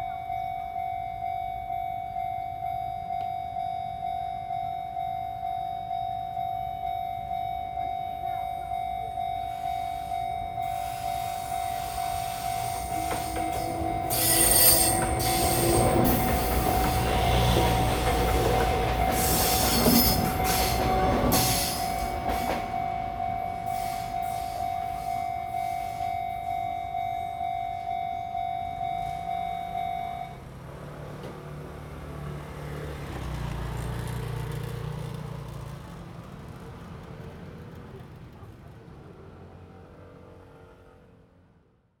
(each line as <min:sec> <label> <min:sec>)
0:00.0 Railway crossings 0:40.8
0:00.0 train 0:42.0